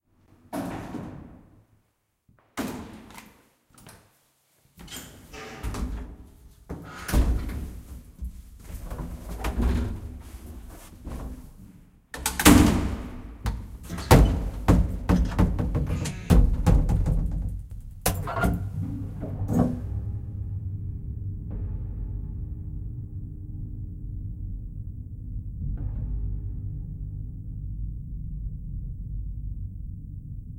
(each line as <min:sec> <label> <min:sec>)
0:00.5 slamming doors 0:01.5
0:04.8 slamming doors 0:07.9
0:12.2 slamming doors 0:19.9
0:18.0 old wooden and metal lift 0:20.0